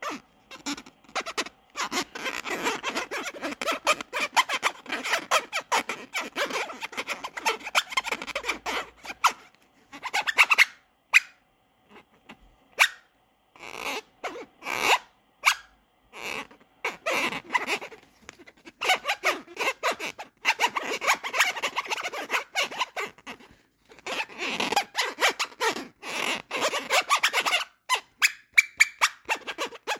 0.0s Squeaking 11.3s
17.2s Squeaking 25.8s

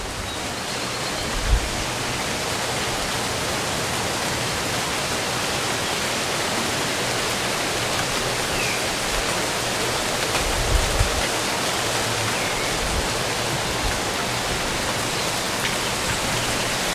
0.0s light rain 16.9s
5.5s birds 16.9s

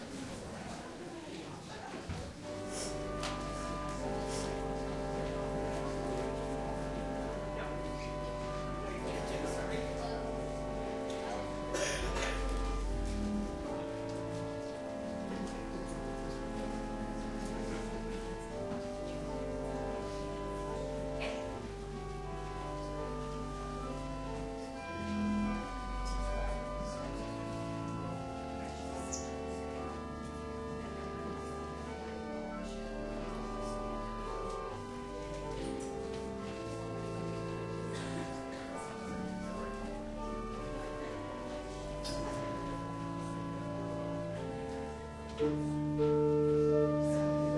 2.1s Congregation milling 29.0s
2.4s soft organ plays 47.5s

